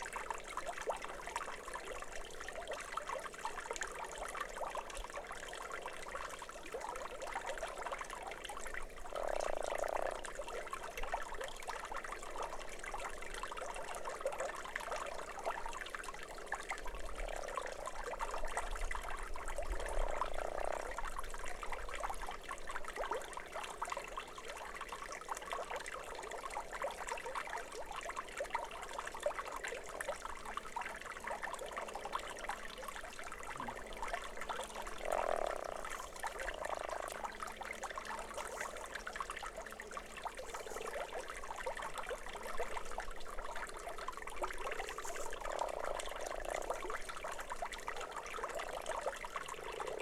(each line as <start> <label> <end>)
8.4 croaking frog 14.1
16.9 croaking frog 22.4
31.3 croaking frog 50.0